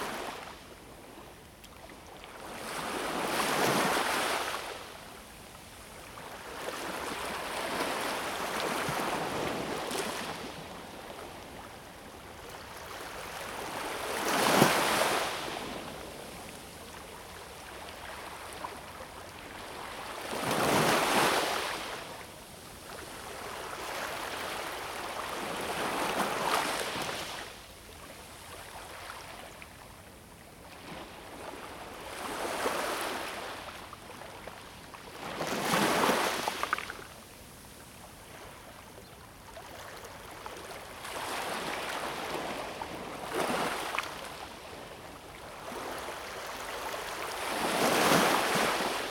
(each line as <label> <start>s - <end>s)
sea 0.0s - 49.1s